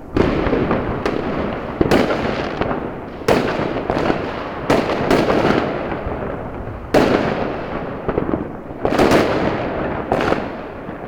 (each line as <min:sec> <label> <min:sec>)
0:00.0 fireworks 0:11.0